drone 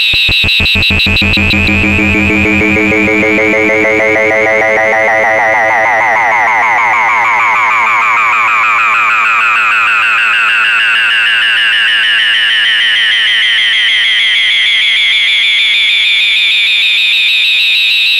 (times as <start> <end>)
0.0 13.3